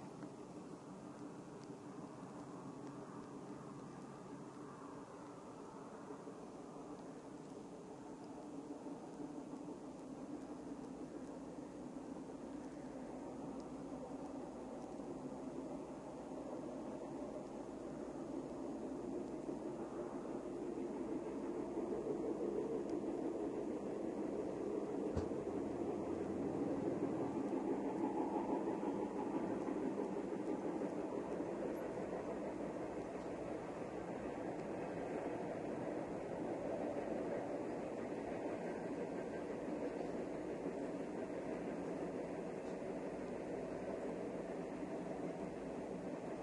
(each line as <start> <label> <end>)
0.0 train 46.4